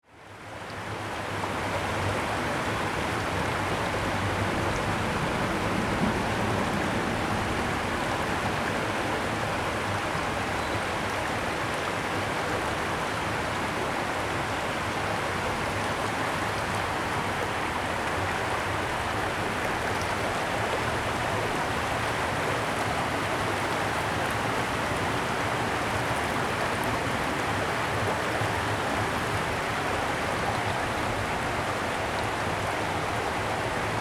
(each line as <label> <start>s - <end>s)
Small Stream 0.0s - 34.0s